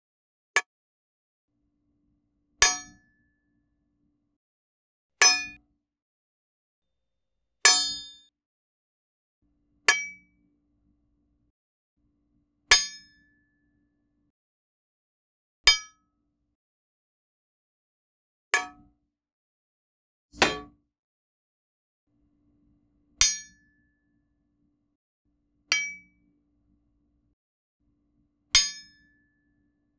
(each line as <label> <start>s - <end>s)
sword hilt grabbing sounds 20.4s - 20.7s